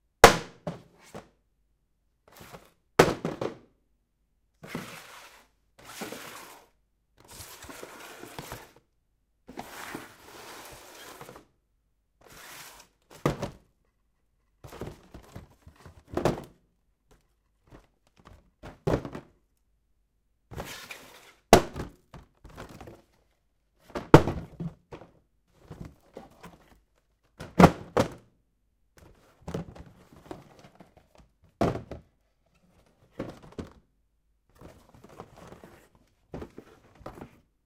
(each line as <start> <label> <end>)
4.6 Paper Box Falling and Sliding 8.8
9.5 Paper Box Falling and Sliding 11.5
29.0 Paper Box Falling and Sliding 33.8
34.5 Paper Box Falling and Sliding 37.5